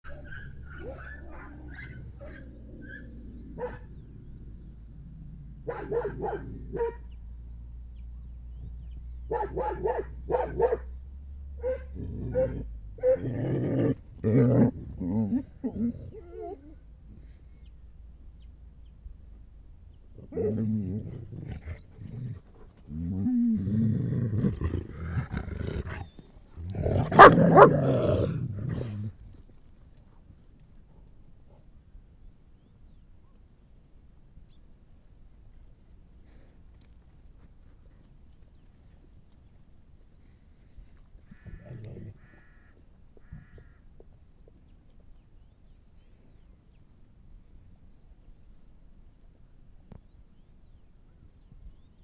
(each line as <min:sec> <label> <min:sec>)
0:00.0 Dogs 0:04.0
0:05.6 Dogs 0:07.2
0:09.2 Dogs 0:10.9
0:11.6 Dogs 0:13.3
0:25.8 Dogs 0:27.8